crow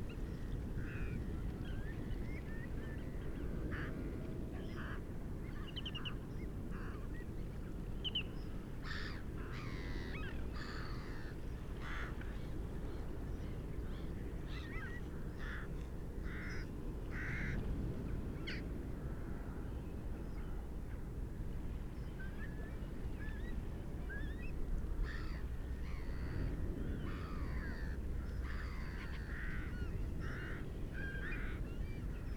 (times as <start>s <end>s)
8.8s 12.2s, 14.6s 17.6s, 25.0s 26.4s, 27.0s 31.6s